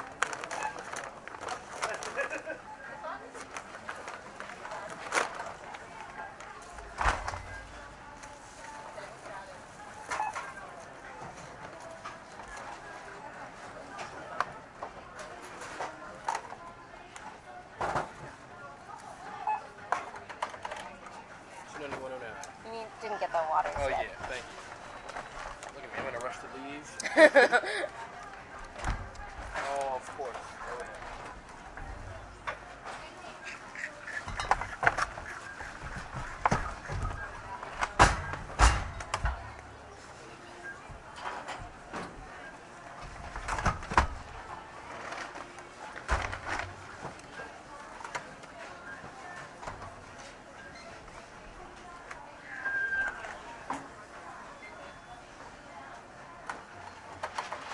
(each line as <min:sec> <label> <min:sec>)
0:00.0 groceries rustling as they are put into bags 0:19.3
0:18.7 conversation 0:31.4
0:34.6 groceries rustling as they are put into bags 0:54.4